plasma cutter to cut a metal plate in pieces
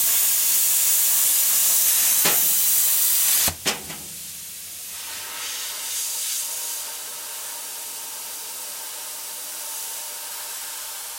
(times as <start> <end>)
0.0 4.6